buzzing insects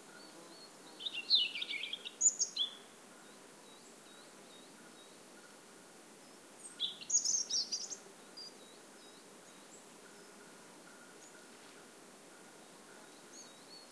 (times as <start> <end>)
7.1 13.5